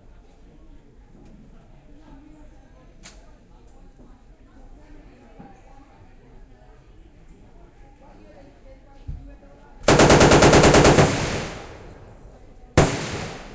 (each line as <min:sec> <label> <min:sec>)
0:09.8 real rounds of AK47, M16, M60 0:12.2
0:12.8 real rounds of AK47, M16, M60 0:13.5